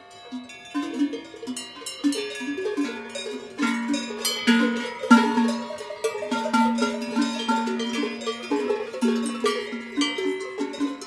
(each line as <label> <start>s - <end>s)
bells 0.0s - 11.0s
cows 0.0s - 11.0s